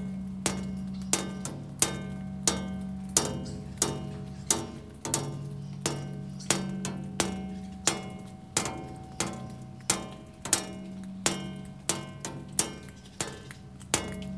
0.0s Birdsongs 14.3s
0.0s Raindrops activating a metal structure 14.3s

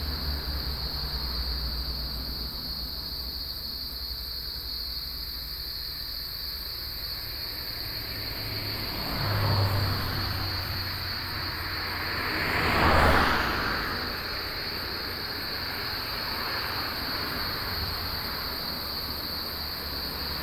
0.0s Cicadas 20.4s
0.0s Traffic sound 20.4s

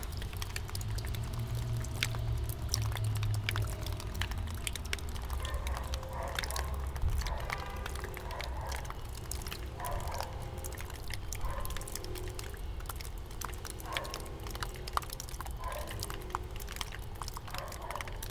0.0s melting snow drips 18.3s

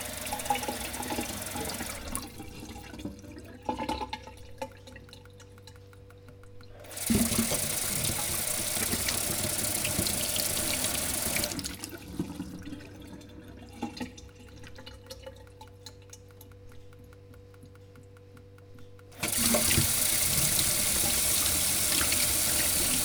0.0s pouring the water out of the tap 4.3s
6.8s pouring the water out of the tap 14.1s
19.2s pouring the water out of the tap 23.0s

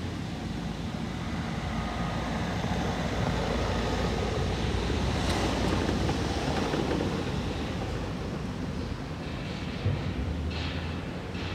5.1s clanking noises from the scrapyard 11.5s

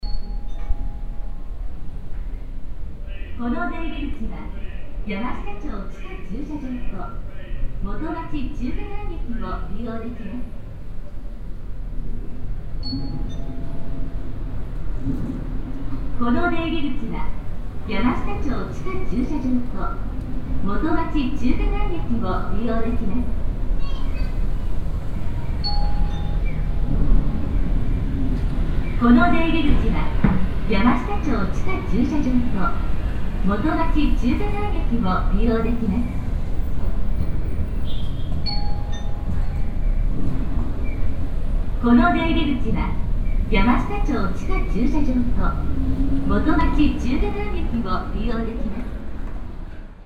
3.1s repeated female automatic voice announcement 10.6s
16.1s repeated female automatic voice announcement 24.5s
28.9s repeated female automatic voice announcement 36.4s
41.8s repeated female automatic voice announcement 49.0s

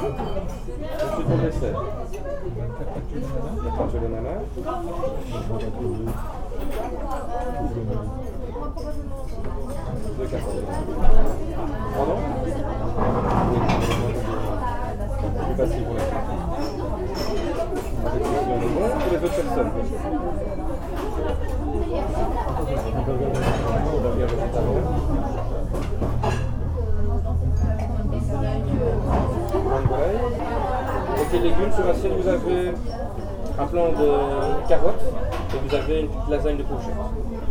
0.0s Busy restaurant 37.5s

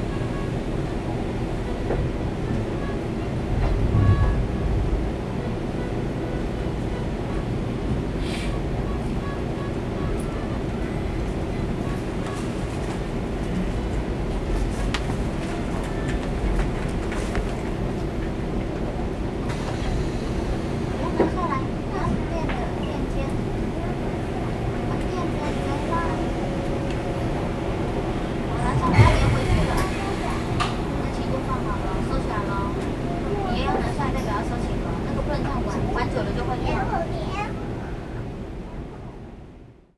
0.0s inside the Trains 39.9s

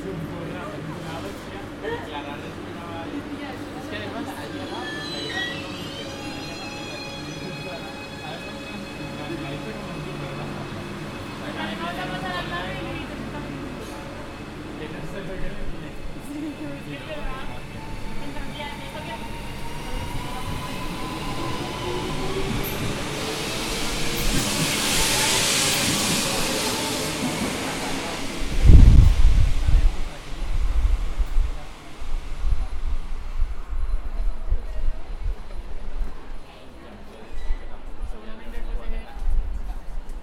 0.0s arrival of the train 40.2s
0.0s departure of the train 40.2s
0.0s voices of people talking 40.2s

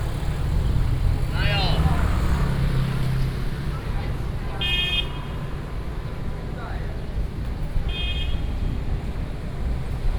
0.0s Walking through the streets 4.8s
0.0s Traffic Sound 10.1s

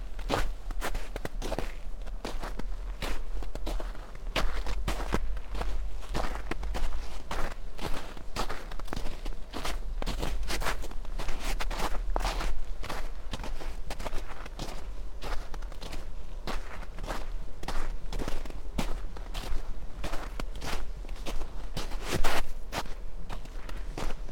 0.0s snow 24.3s

